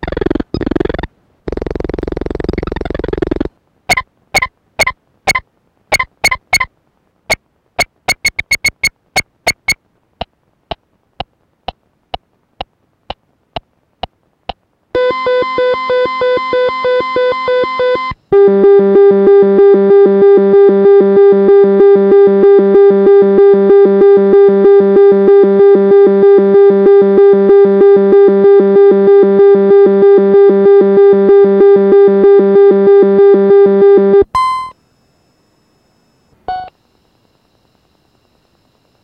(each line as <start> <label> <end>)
7.8 stopwatch alarm 8.9
7.8 beeping when user skips the line 9.8
31.3 beeping when user skips the line 36.8